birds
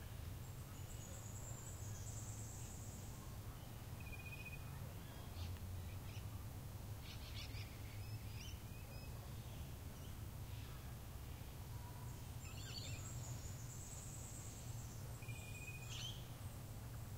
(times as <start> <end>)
7.0 17.1